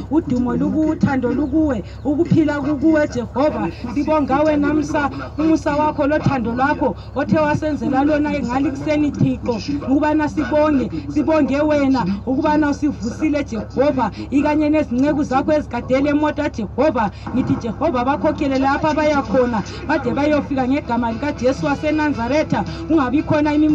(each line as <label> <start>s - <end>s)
bus leaving Entumbane rank 0.0s - 23.7s
passenger says a prayer 0.0s - 23.7s